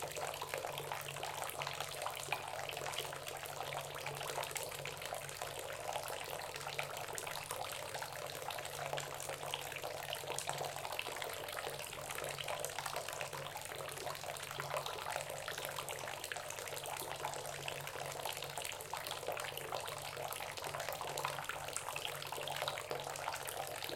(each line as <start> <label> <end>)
0.0 Filling up a tub slowly 23.9